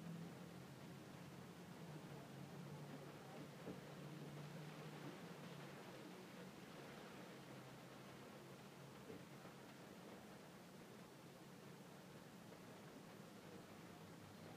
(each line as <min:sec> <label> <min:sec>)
0:00.0 distant traffic on the surrounding roads going by 0:14.5
0:00.0 rain heard inside of a car 0:14.5